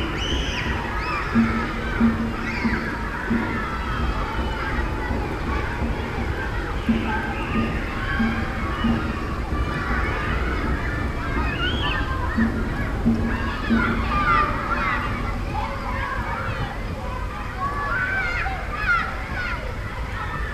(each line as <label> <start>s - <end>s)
children's playground 0.0s - 20.5s
overground rail line 0.0s - 20.5s